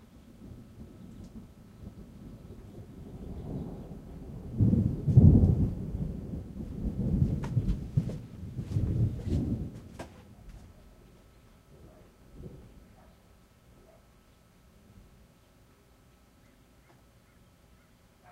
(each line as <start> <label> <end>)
0.0 rain 18.3
0.3 thunder 10.2
11.8 dogs 12.2
12.9 dogs 14.1
15.3 birds 18.3